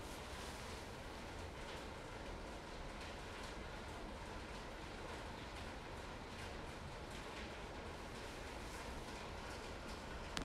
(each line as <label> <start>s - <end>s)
Rain on a corrugated metal roof 0.0s - 10.4s